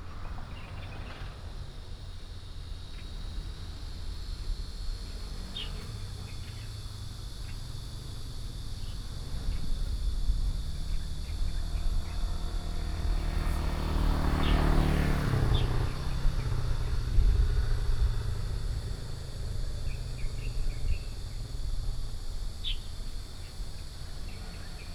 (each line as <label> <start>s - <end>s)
Traffic Sound 11.0s - 22.8s